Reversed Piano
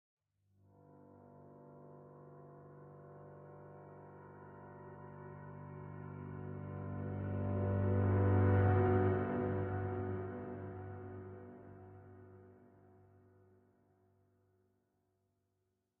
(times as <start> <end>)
3.1 12.7